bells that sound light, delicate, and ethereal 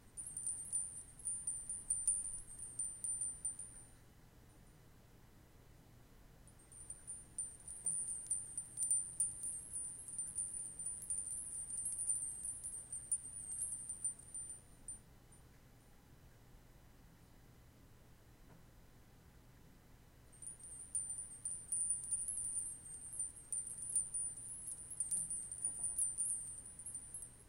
0:00.0 0:04.0, 0:06.5 0:15.0, 0:20.4 0:27.4

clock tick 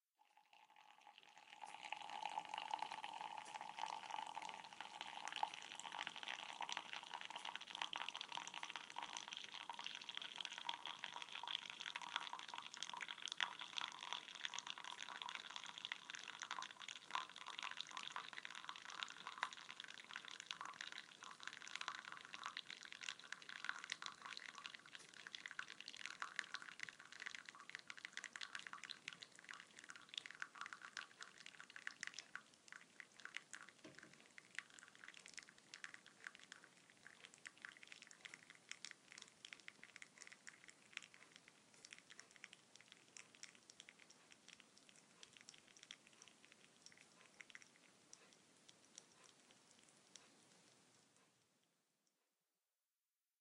0:43.2 0:51.4

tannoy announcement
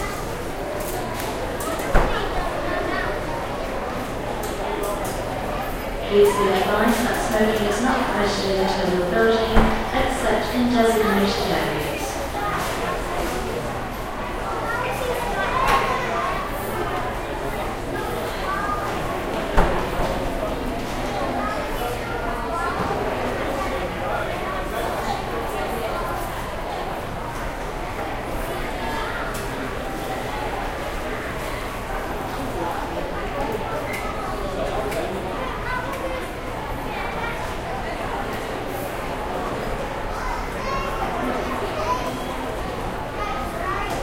0:06.0 0:12.3

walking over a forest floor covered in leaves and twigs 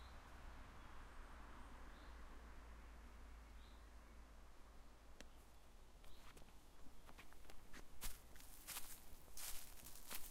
0:06.0 0:10.3

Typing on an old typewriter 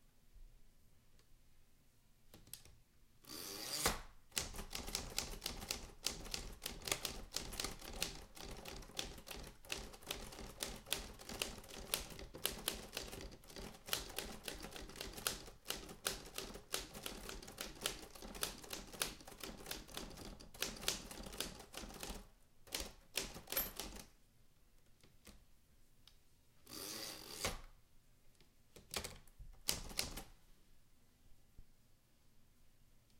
0:04.3 0:24.1, 0:28.8 0:30.3

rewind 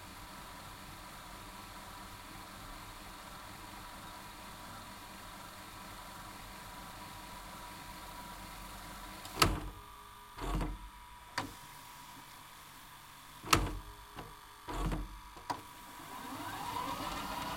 0:13.4 0:17.5

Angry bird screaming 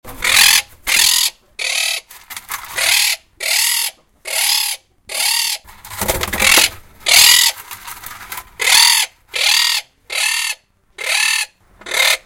0:06.4 0:07.6, 0:08.6 0:12.2

